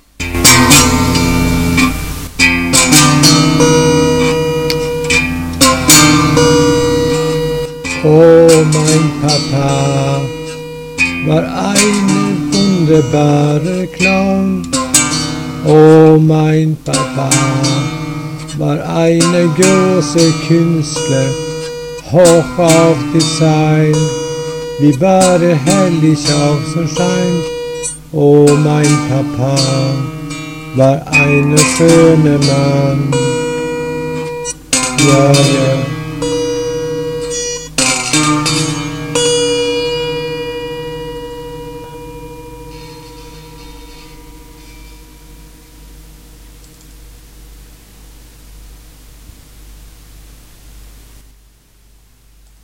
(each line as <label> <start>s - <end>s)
only string that is tuned 0.2s - 46.9s